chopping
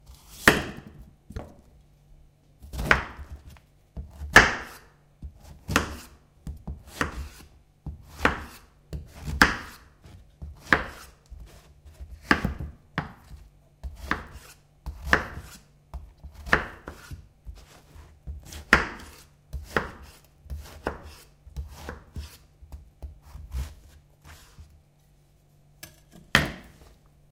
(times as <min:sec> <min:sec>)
0:00.4 0:01.0, 0:02.7 0:03.3, 0:04.3 0:04.8, 0:05.7 0:06.1, 0:08.1 0:08.6, 0:09.2 0:09.8, 0:12.2 0:15.6, 0:18.4 0:22.4, 0:25.8 0:26.9